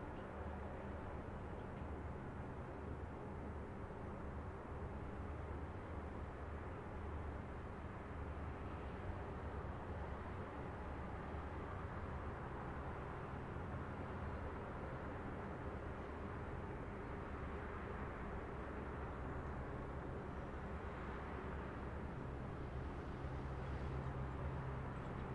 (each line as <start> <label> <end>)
8.0 distant light traffic 25.3